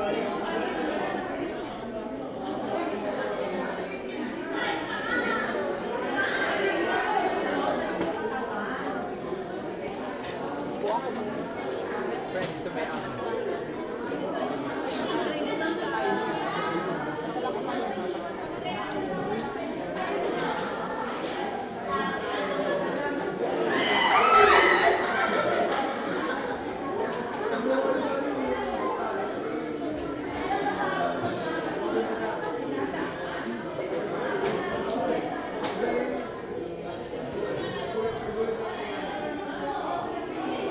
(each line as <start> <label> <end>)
0.0 Tourists gather 40.7